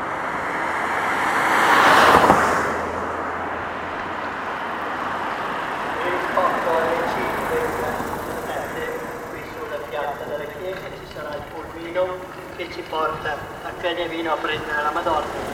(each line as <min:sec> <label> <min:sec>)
0:00.0 noise of the fast cars on the street 0:15.5
0:01.1 people comes out 0:15.5
0:04.9 Eucharist celebration 0:15.5